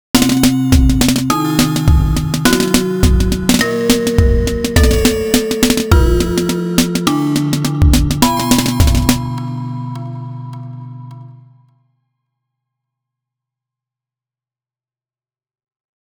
0.0s drums 9.5s

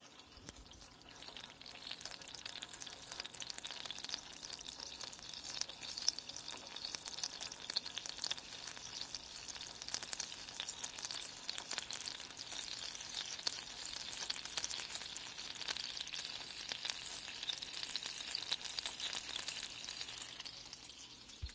0.0s Sizzling Water 21.5s

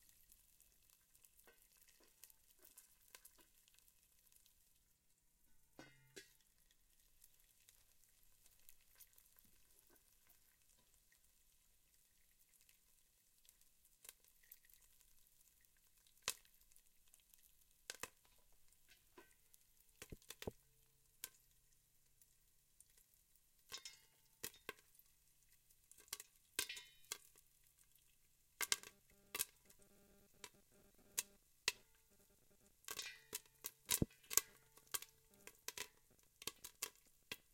0.0s Popcorn sizzling in a pot and popping 37.5s

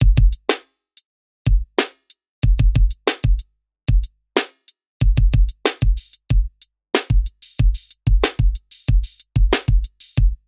0.5s snare 0.8s
1.8s snare 2.2s
4.4s snare 4.7s

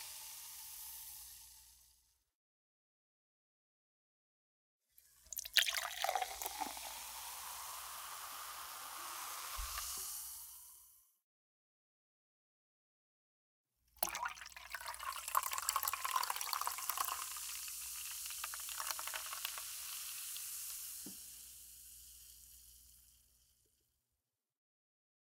0.0s soda pour into plastic cups 1.9s
5.0s soda pour into plastic cups 10.9s
14.0s soda pour into plastic cups 23.3s

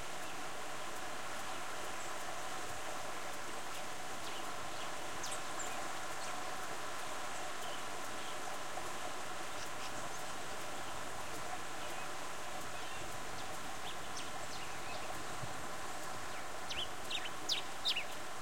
0.0s water stream 18.4s
1.4s birds 18.4s

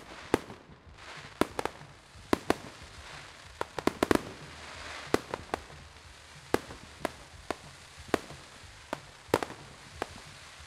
0.0s Crackling fireworks 10.6s
0.0s distant, though obscured music 10.6s

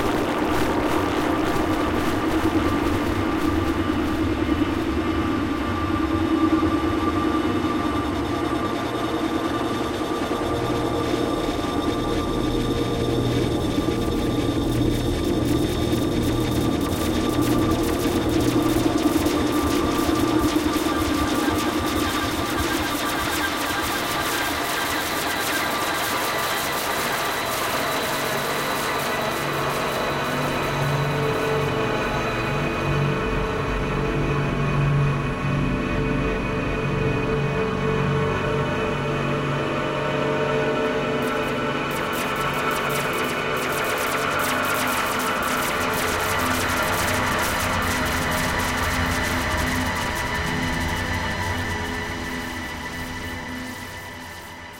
0.0s drone 54.7s

